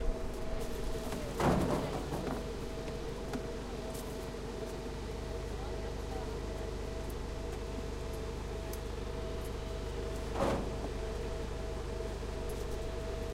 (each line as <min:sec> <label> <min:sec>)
0:00.6 people working 0:04.2
0:00.9 Dumping grapes to the tractor 0:02.5